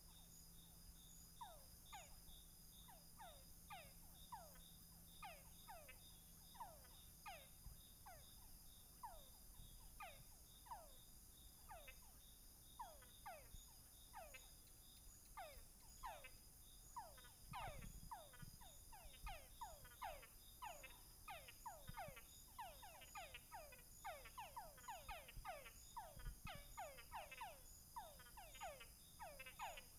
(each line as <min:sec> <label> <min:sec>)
0:00.0 Crickets 0:29.9
0:00.0 Frogs 0:29.9
0:11.6 Toads 0:29.9